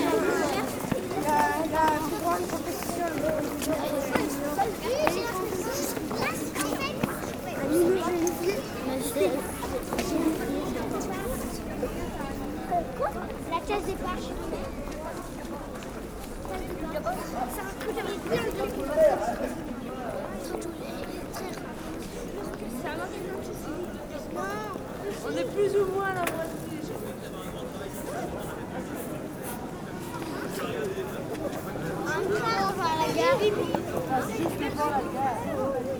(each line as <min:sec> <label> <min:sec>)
0:00.0 children 0:26.7
0:29.4 children 0:35.9